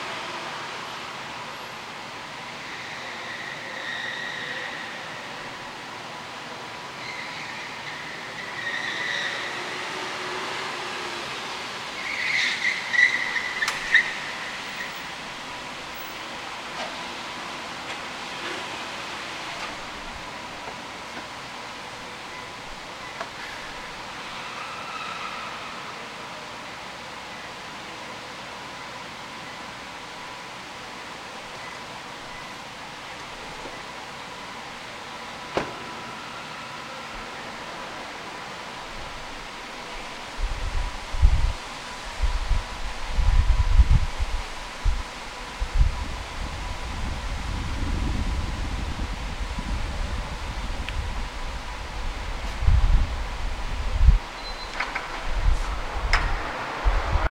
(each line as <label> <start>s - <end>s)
car parking inside a building lot 0.0s - 57.3s
tires screeching as it parks 2.2s - 5.6s
tires screeching as it parks 6.9s - 20.2s
tires screeching as it parks 22.3s - 26.2s